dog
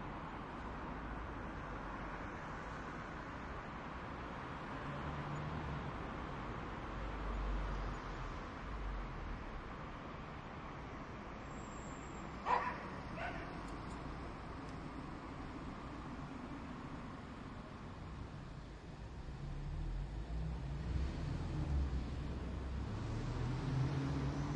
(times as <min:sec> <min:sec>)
0:12.4 0:13.6